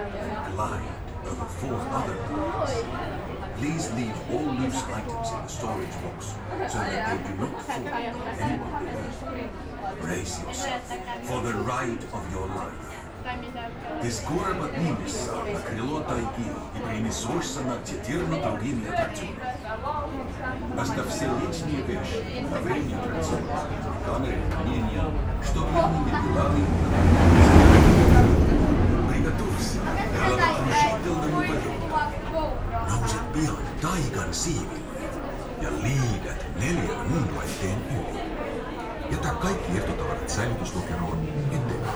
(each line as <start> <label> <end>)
0.0 launched roller coaster 41.9